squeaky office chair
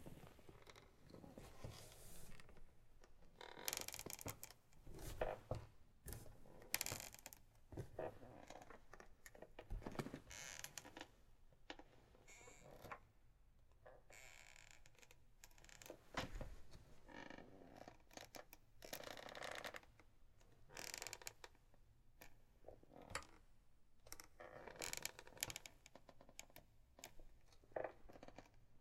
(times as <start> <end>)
3.4 5.5, 10.0 11.0